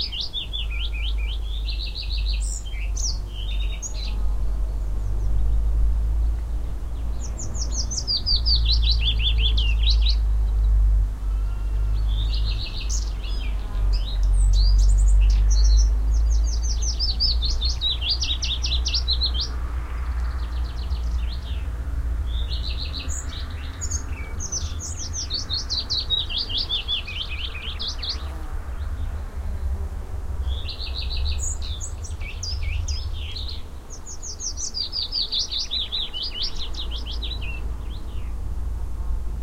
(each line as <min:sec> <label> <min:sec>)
0:00.0 birds 0:38.6
0:00.0 cars 0:39.4
0:00.0 wind 0:39.4
0:11.2 bees 0:16.0
0:22.4 bees 0:38.3